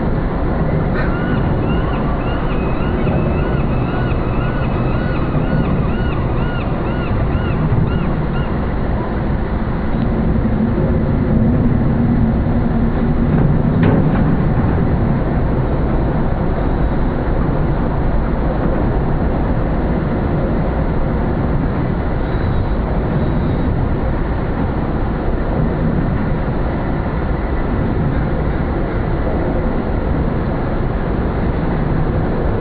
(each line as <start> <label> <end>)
0.0 distant water plane 32.6
0.0 traffic passing an resonating in the construction 32.6
1.0 seagulls 8.6